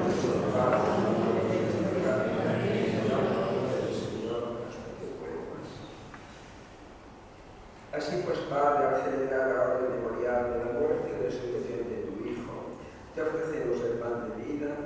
Eucharistic celebration 0:00.0 - 0:06.2

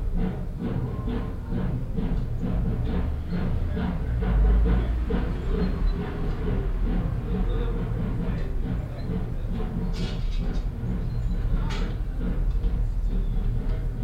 constant hum of the chairlift motor generator 0:00.0 - 0:14.0

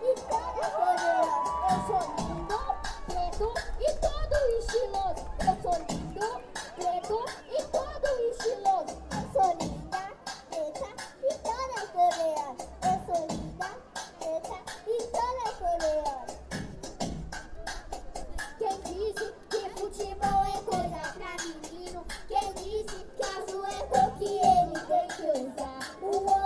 dezenas de pessoas 0:00.0 - 0:10.5
show de crianças 0:00.0 - 0:26.4

